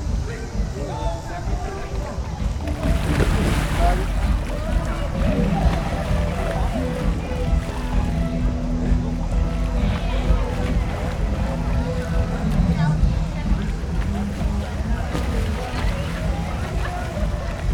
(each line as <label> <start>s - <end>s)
water balls 0.7s - 17.7s